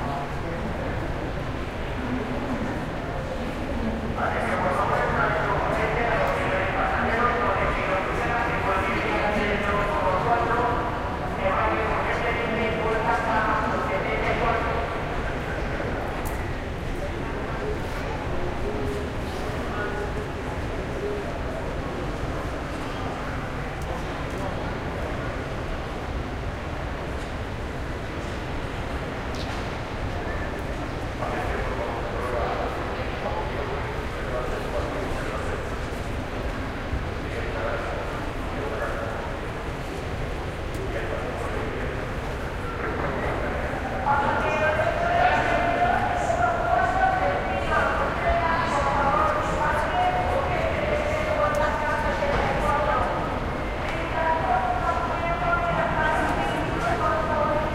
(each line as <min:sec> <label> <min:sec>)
0:42.6 announcement 0:57.7